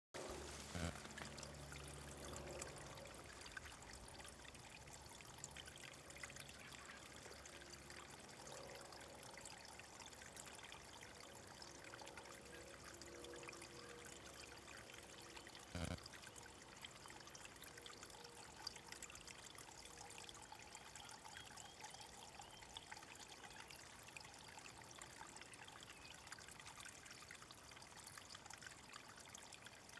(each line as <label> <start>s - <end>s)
Water trickle 0.2s - 29.9s
wind 0.2s - 29.9s